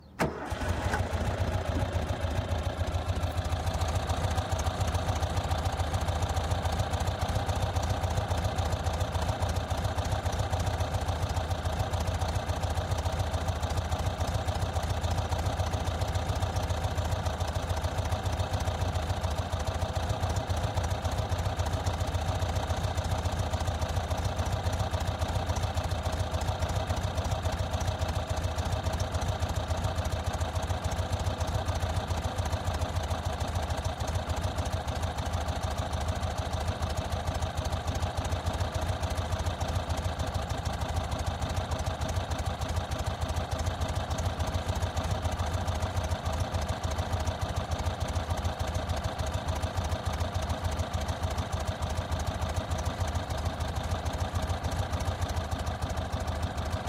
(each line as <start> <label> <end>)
0.0 volkswagen type2 engine start 56.8